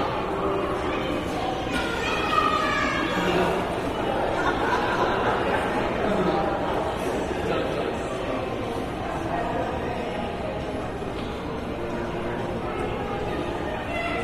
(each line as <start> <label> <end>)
0.0 children played nearby 6.9
12.4 children played nearby 14.2